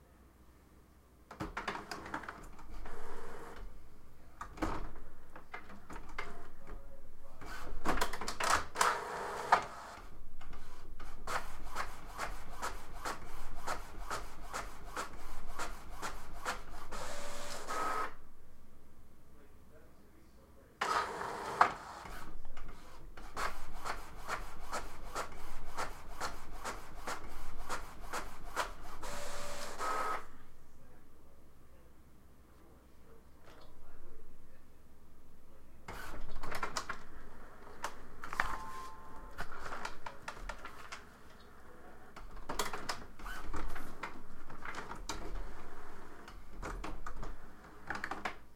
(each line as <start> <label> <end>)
1.7 printer sound in the distance 3.8
5.7 printer sound in the distance 18.2
20.8 printer sound in the distance 30.4
35.8 printer sound in the distance 48.3